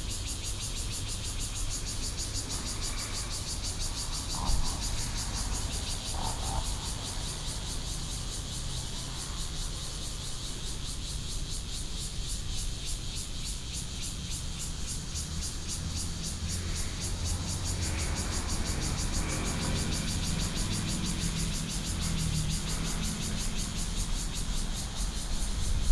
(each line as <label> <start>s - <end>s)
Cicadas sound 0.0s - 25.9s
Traffic Sound 14.1s - 25.9s